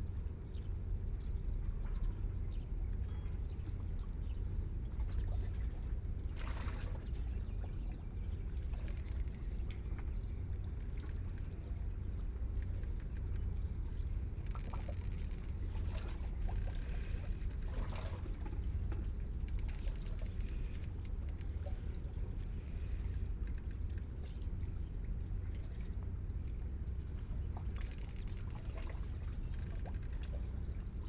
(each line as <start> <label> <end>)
0.0 Yacht 31.0